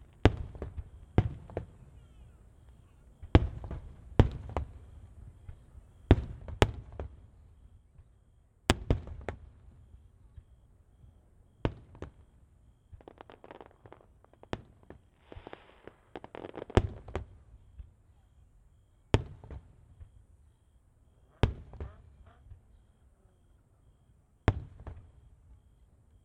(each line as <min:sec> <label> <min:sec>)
0:00.0 fireworks launched over the river 0:07.5
0:08.7 fireworks launched over the river 0:18.4
0:21.2 fireworks launched over the river 0:22.8
0:24.4 fireworks launched over the river 0:25.6